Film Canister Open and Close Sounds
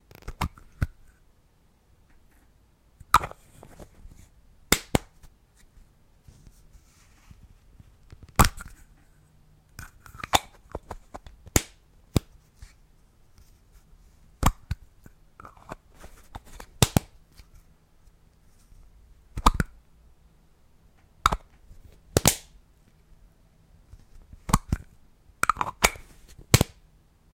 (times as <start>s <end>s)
19.4s 19.7s, 24.5s 26.7s